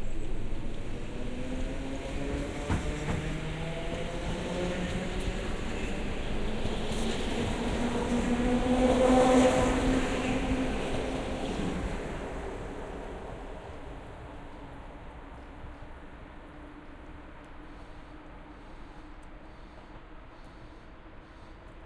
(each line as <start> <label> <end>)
0.0 Train arriving and departing 21.8